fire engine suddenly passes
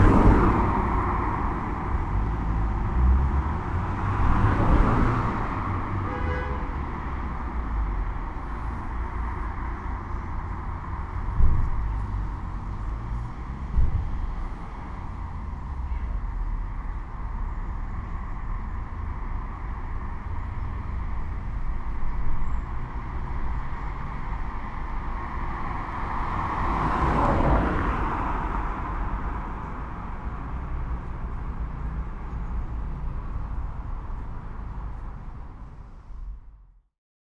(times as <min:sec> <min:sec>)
0:00.0 0:06.8, 0:22.6 0:36.6